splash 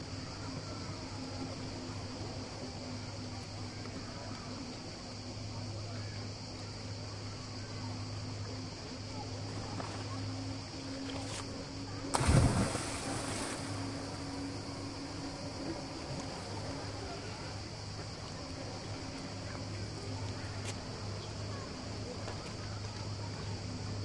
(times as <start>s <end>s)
12.1s 14.3s